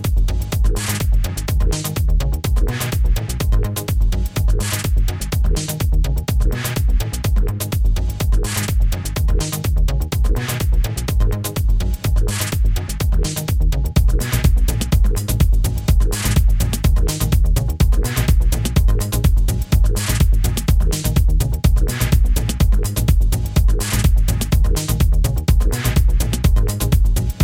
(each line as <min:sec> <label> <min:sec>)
0:00.0 running music 0:27.4